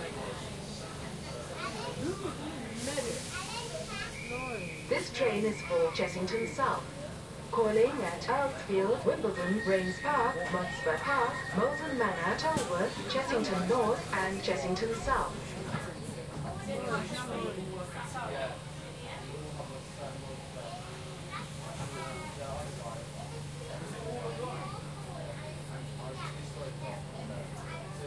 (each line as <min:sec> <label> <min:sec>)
0:00.0 Train Interior 0:28.0
0:00.0 other trains passing nearby 0:28.0
0:09.3 train doors opening and closing 0:14.3